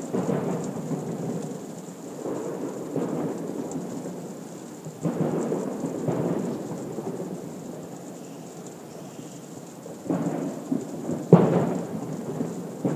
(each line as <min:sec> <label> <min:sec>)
0:00.0 fireworks booms 0:01.4
0:00.0 rain falling softly 0:12.9
0:02.2 fireworks booms 0:04.2
0:05.0 fireworks booms 0:07.4
0:10.0 fireworks booms 0:12.9